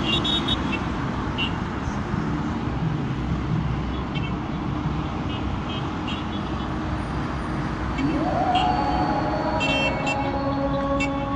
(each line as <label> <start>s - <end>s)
traffic 0.0s - 11.3s
muezzin is singing 7.8s - 11.3s
people sound the horn 8.0s - 11.3s